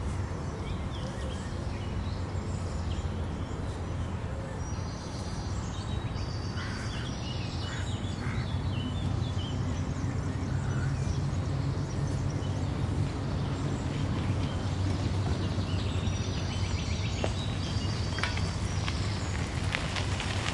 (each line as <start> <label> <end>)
0.0 Distant city traffic 20.5
0.0 birds are singing 20.5